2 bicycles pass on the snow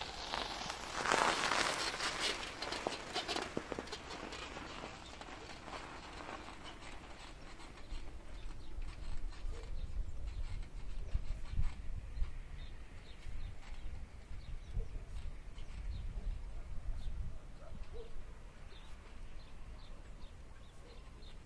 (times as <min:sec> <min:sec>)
0:00.0 0:09.2